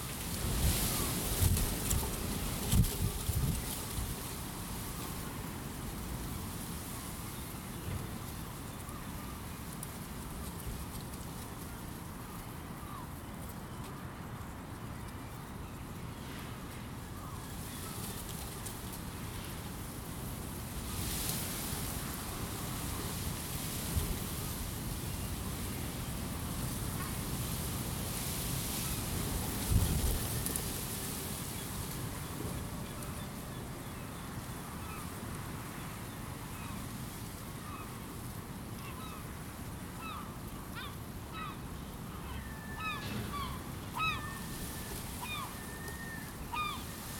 42.2s seagulls singing 46.9s

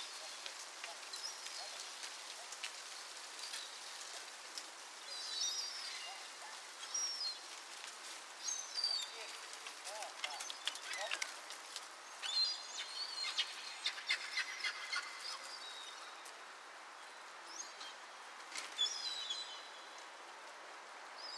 5.6s Urban Seaguls 7.0s
12.2s Urban Seaguls 15.7s

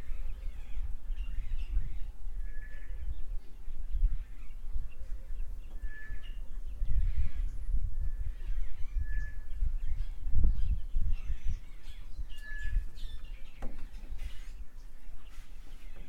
0.0s birds 16.0s

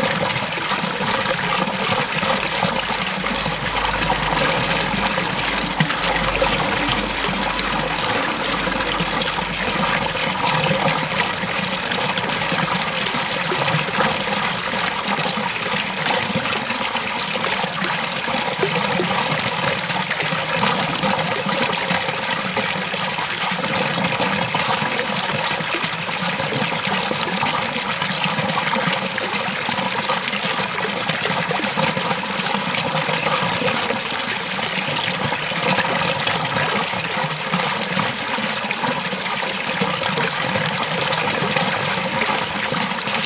0.0s 70's style fountain 43.2s
0.5s cars passing by 14.7s

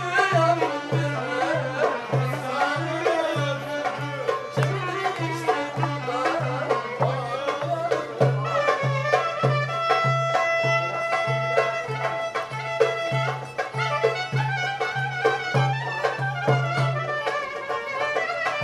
0.0s accompanies the singing 9.0s

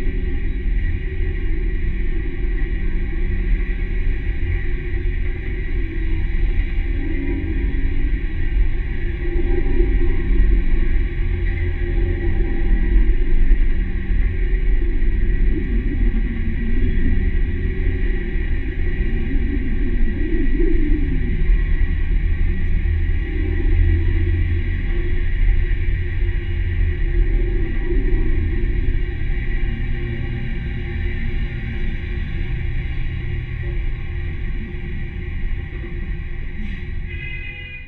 24.1s tram pole 37.8s

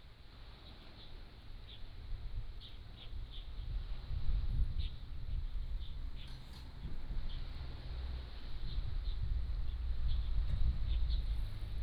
0.0s waves 4.5s
0.6s Birdsong 11.8s
6.7s waves 8.5s

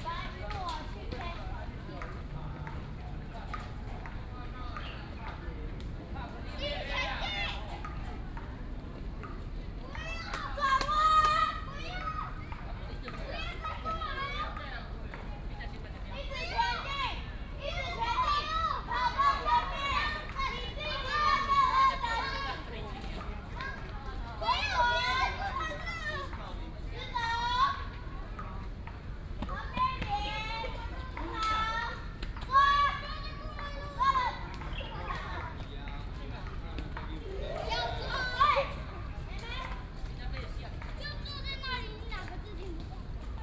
0.0s Many elderly and children 43.4s

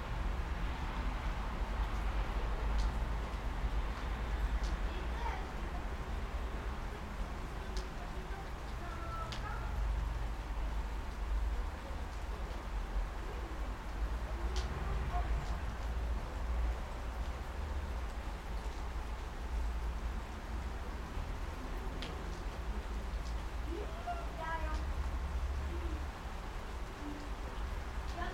0.0s Childrend play under the balcony 28.3s
0.0s Cold rainy Friday 28.3s

